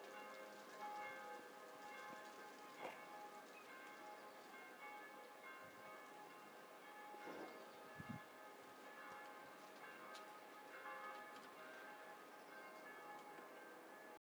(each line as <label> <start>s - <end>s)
Distant church bells 0.0s - 14.2s